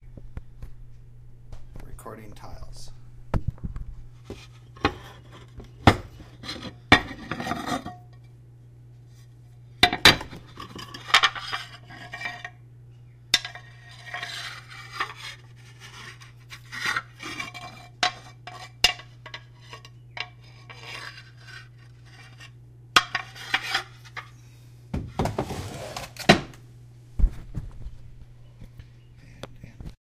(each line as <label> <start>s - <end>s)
sorting thru some clay tiles with a bit of dirt 4.3s - 8.0s
sorting thru some clay tiles with a bit of dirt 9.9s - 12.6s
sorting thru some clay tiles with a bit of dirt 13.4s - 24.3s